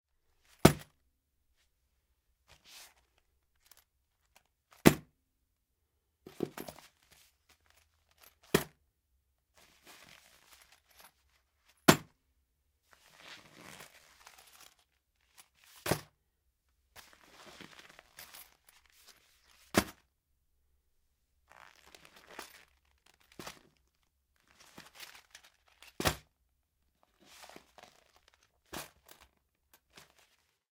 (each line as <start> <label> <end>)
2.5 wallet handling 5.0
6.3 wallet handling 8.7
9.6 wallet handling 12.2
12.9 wallet handling 16.1
17.0 wallet handling 20.0
21.5 wallet handling 26.3
27.0 wallet handling 30.7